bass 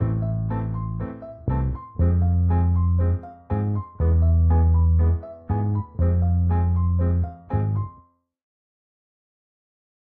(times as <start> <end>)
0.0 8.0